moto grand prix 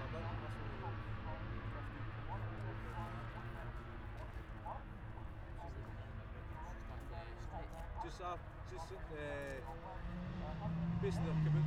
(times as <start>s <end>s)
9.6s 11.6s